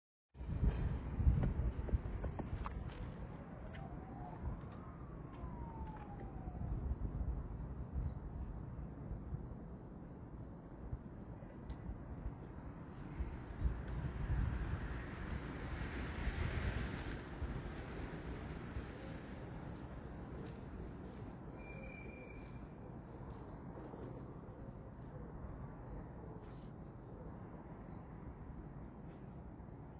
Ambient sounds from the tram station 0.4 - 29.9
Strong wind rustling through the trees 0.4 - 29.9
Birds perching and singing throughout 5.2 - 9.2
Passing cars on the nearby road 12.3 - 23.1
Birds perching and singing throughout 17.8 - 29.5

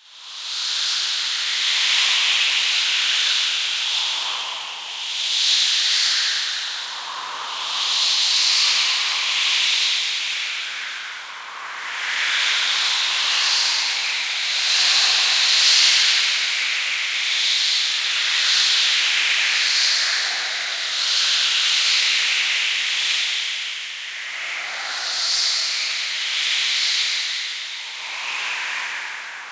Dense wind noises 24.0 - 29.5

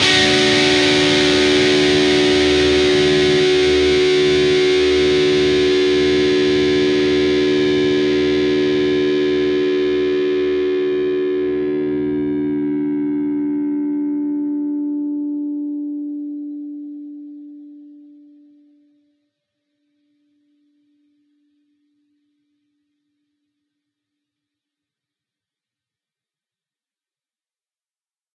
distorted guitar 0.0 - 18.4

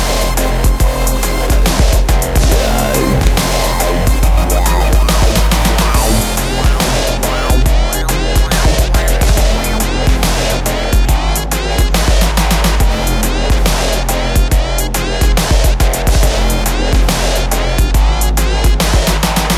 Synth 2.5 - 9.7

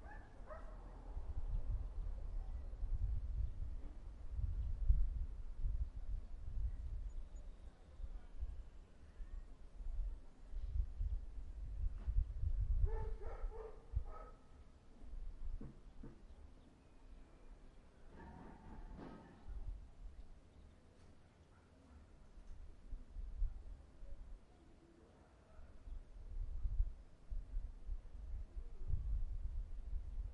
wind noise 0.0 - 16.4
dogs 0.0 - 1.0
dogs 12.9 - 14.4
wind noise 18.1 - 20.2
dogs 21.4 - 22.1
wind noise 22.5 - 24.4
wind noise 25.8 - 30.3

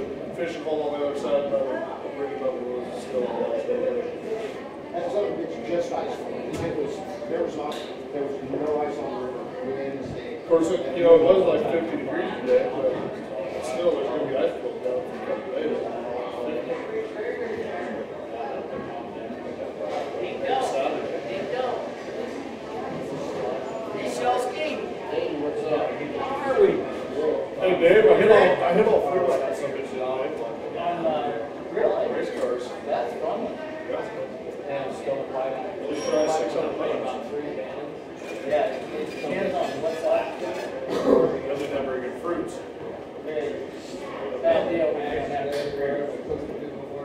people chatter and talk 0.0 - 47.0

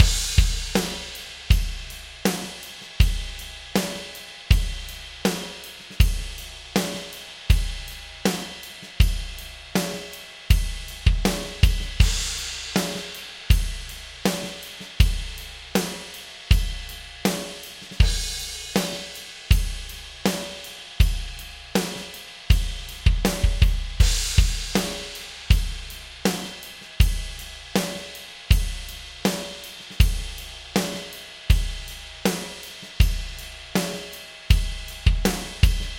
DRUMS 0.0 - 35.9

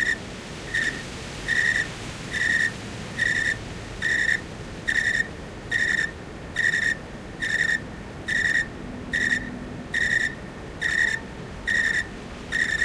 Crickets 0.0 - 12.8

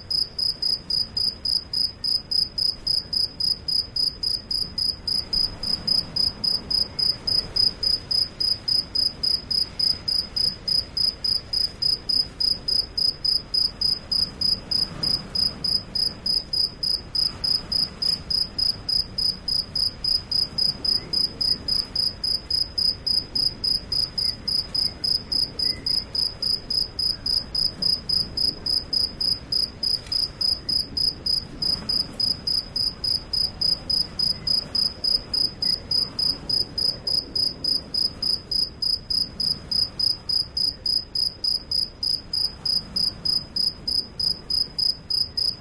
heavy wind 0.0 - 45.6
Cricket singing 0.1 - 45.6

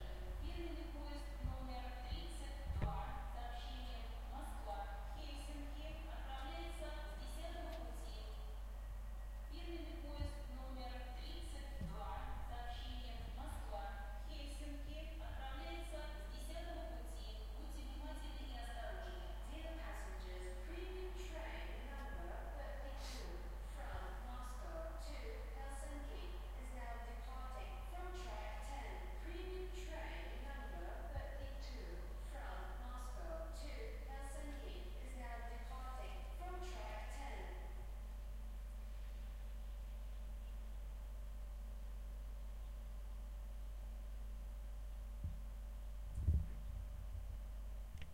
railway station announcements 0.0 - 37.8

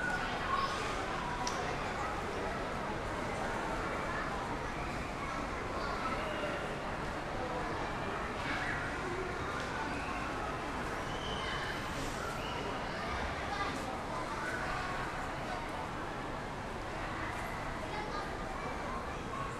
people chatting 0.0 - 15.9
people chatting 16.8 - 19.5

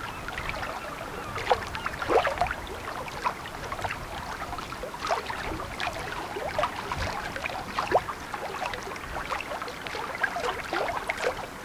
seagulls 0.0 - 2.8
Gentle waves splashing on the rocks 0.0 - 11.6

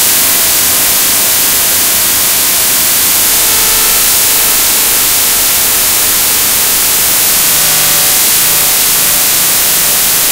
binaural beats 0.0 - 10.3

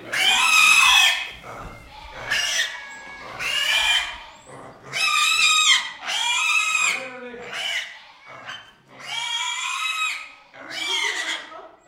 young pigs' slaughter 0.0 - 11.8

